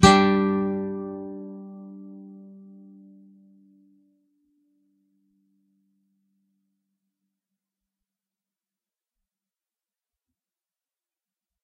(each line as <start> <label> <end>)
0.0 nylon guitar 4.1